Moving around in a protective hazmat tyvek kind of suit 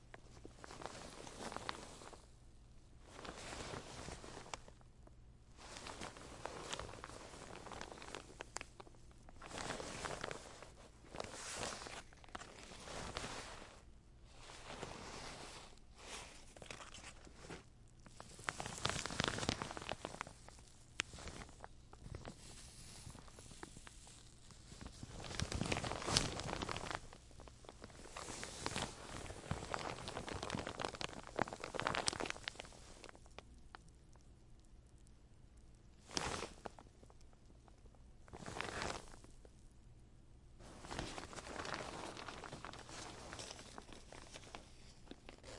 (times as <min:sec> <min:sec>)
0:09.4 0:20.3, 0:40.6 0:45.5